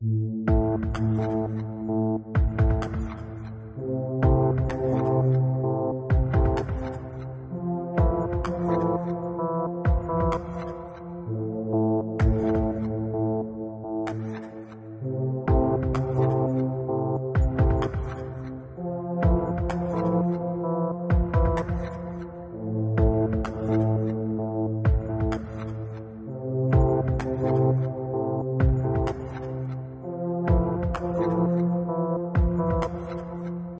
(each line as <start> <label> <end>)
0.0 synth 33.7